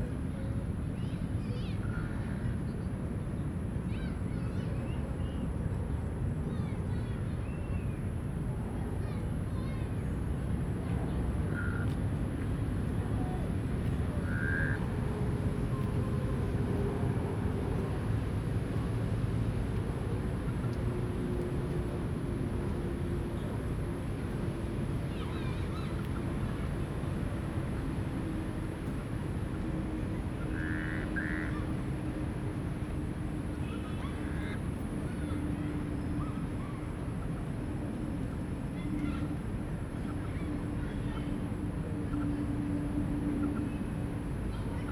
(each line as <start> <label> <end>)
10.2 Traffic noise 44.9